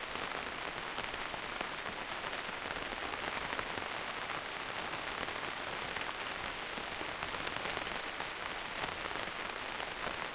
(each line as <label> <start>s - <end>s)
rain inside the greenhouse close perspective to plastic surface 0.0s - 10.3s